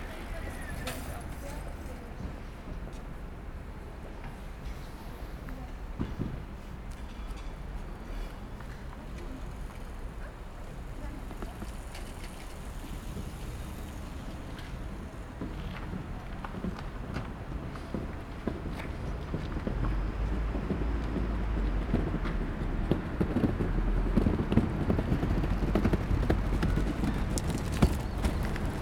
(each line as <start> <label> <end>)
0.0 people 3.2
4.2 people 21.5
7.7 Passing by cars 28.8